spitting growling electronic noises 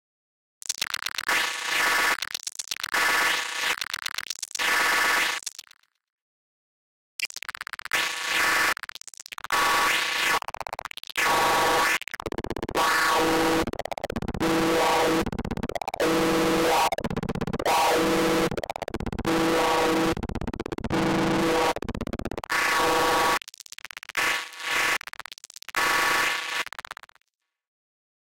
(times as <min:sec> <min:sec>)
0:11.2 0:23.4